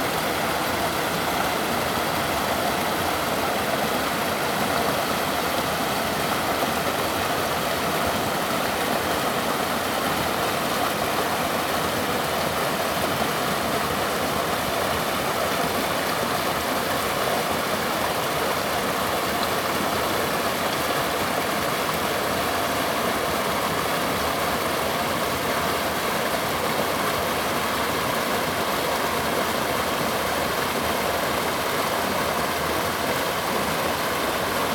river 0:00.0 - 0:34.7

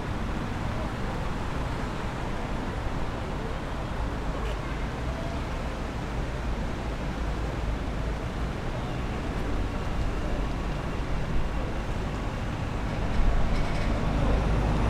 People and vehicle traffic 0:00.0 - 0:14.8

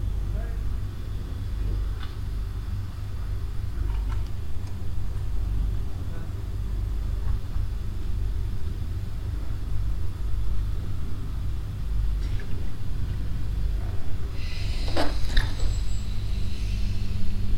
deep grounding sound as the regional train arrives 0:00.0 - 0:17.5
train leaves the station 0:00.0 - 0:17.5
Doors open 0:13.8 - 0:17.4
pneumatic air as the doors close 0:14.4 - 0:17.5

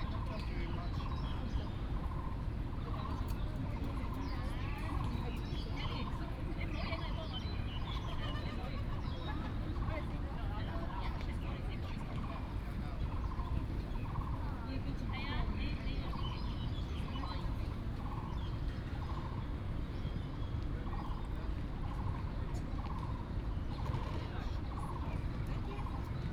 Bird sounds 0:00.0 - 0:26.3

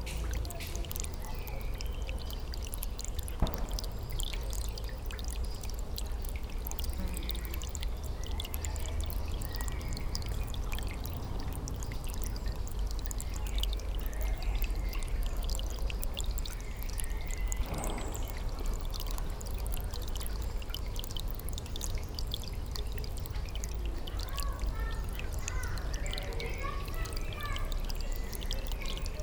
rill, giving water to the pond 0:00.0 - 0:29.2
children playing 0:24.0 - 0:29.2

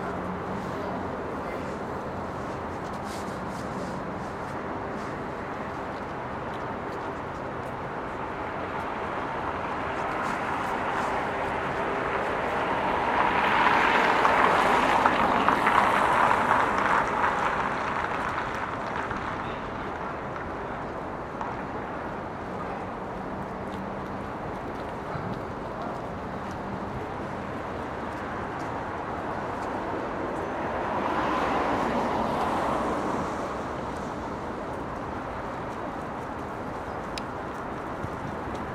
cars driving on wet asphalt 0:00.0 - 0:38.7
people walking 0:00.0 - 0:38.7

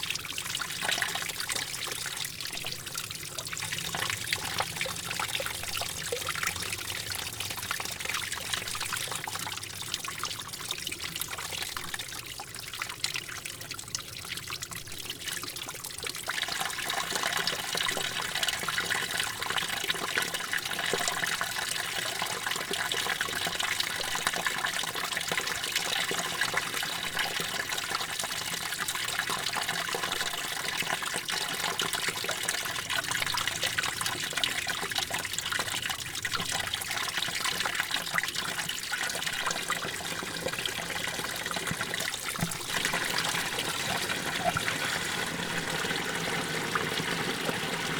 snow melt 0:42.7 - 0:47.9

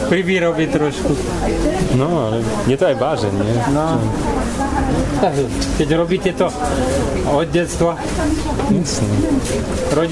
vendor explaining 0:00.0 - 0:10.1

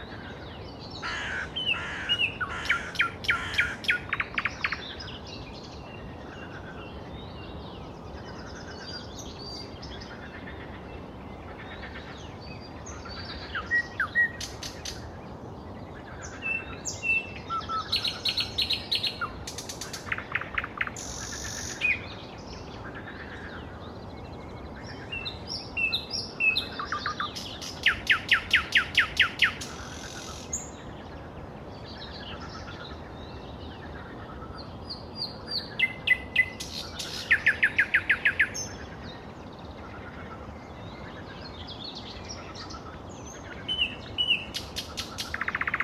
Birds 0:00.0 - 0:45.8
Frogs 0:00.0 - 0:45.8

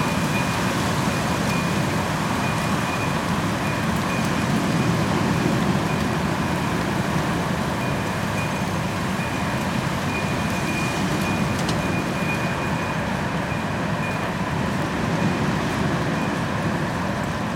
wind 0:00.0 - 0:17.5

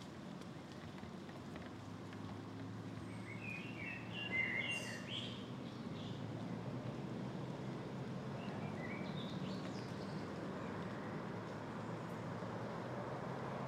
Cars can be heard in the distance 0:00.0 - 0:13.6
Birds singing 0:03.0 - 0:06.2
Birds singing 0:08.4 - 0:10.3

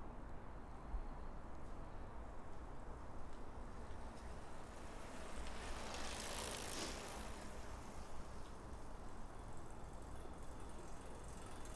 trains pass in each direction 0:00.0 - 0:11.7
bikes coming fast downhill 0:02.7 - 0:11.7

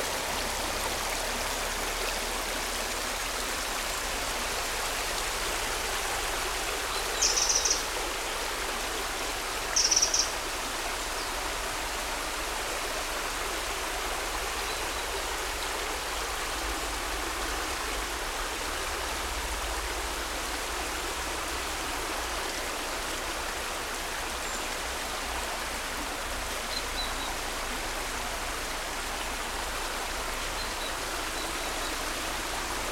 Small creek, water running 0:00.0 - 0:32.9
birds 0:06.8 - 0:07.9
birds 0:09.7 - 0:10.4

